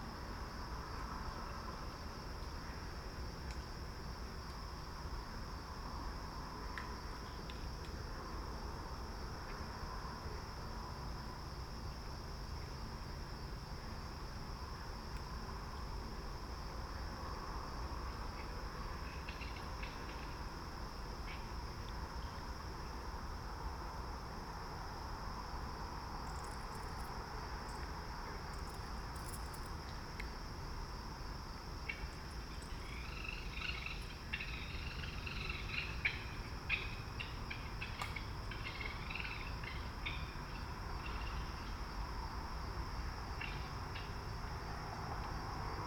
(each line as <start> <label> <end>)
0.0 Green Frogs 45.8
0.0 Traffic 45.8